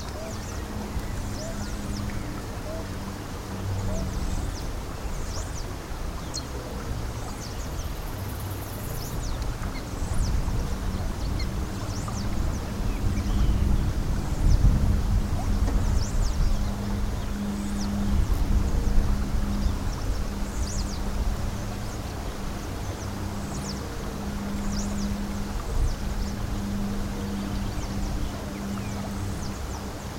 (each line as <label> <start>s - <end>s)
river 0.0s - 30.1s